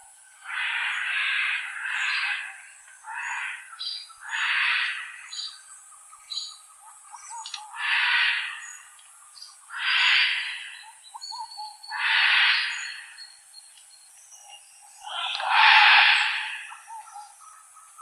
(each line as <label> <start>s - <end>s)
vocalizations produced by a free-ranging group of red-and-green macaws 0.4s - 5.3s
vocalizations produced by a free-ranging group of red-and-green macaws 7.3s - 8.8s
vocalizations produced by a free-ranging group of red-and-green macaws 9.7s - 13.2s
vocalizations produced by a free-ranging group of red-and-green macaws 15.0s - 17.6s